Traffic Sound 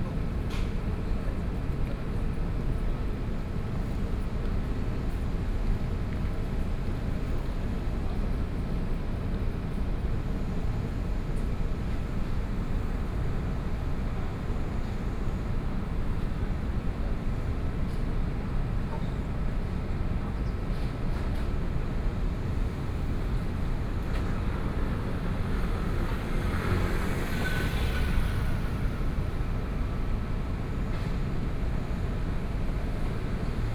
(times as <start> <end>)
21.3 33.7